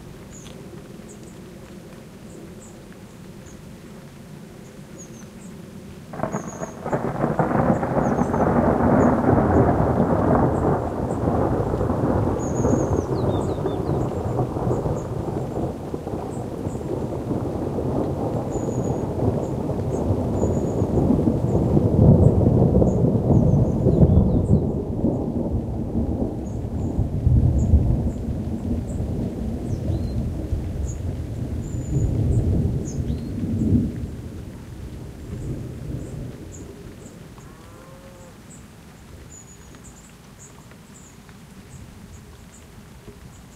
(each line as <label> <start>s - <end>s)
Rain 0.0s - 43.5s
Thunder 6.1s - 36.8s